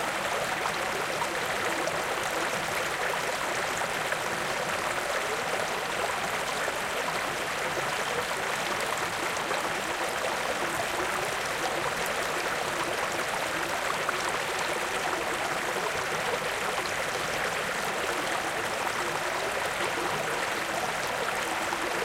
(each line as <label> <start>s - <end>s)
water flowing 0.0s - 22.0s